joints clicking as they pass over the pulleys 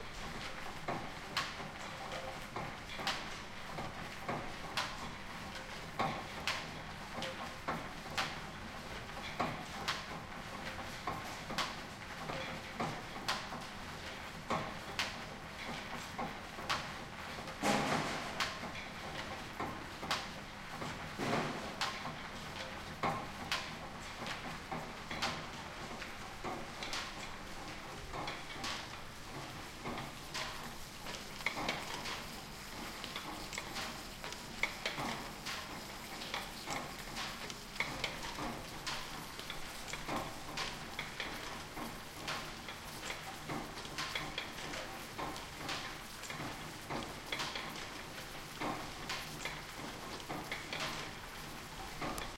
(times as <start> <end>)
24.4 52.3